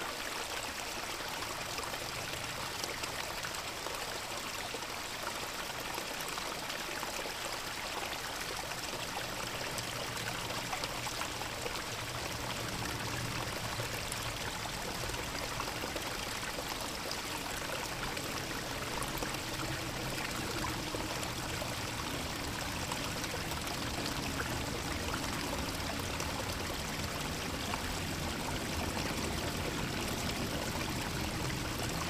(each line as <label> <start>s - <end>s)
creek 0.0s - 32.0s
constant air traffic overhead 7.7s - 32.0s